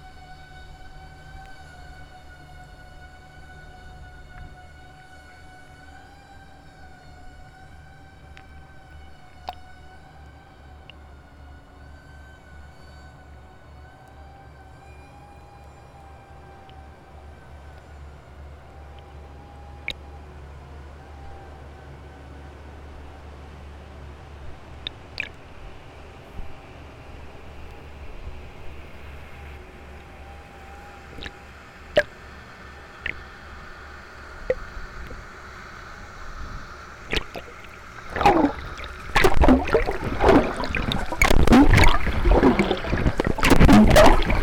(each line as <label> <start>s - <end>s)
waves 0.0s - 11.0s
boat transporting liquid gas 0.0s - 44.4s
waves 30.2s - 44.4s